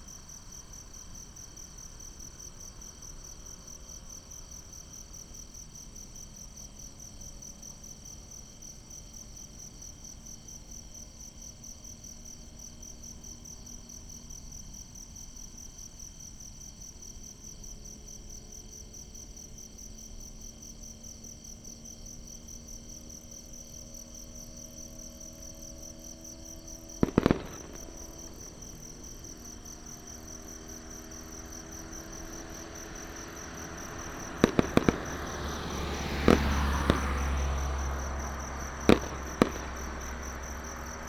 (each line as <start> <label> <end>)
0.0 Insects sound 41.0
23.7 fireworks 41.0
24.8 Traffic sound 41.0
26.9 CFirecrackers 41.0